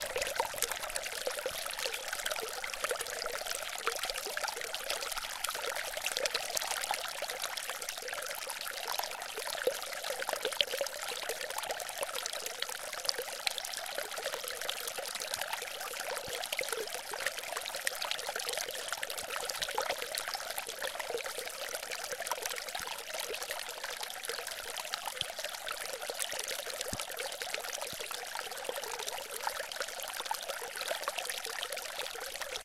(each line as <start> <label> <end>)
0.0 small stream in the forest pouring over some rocks 32.6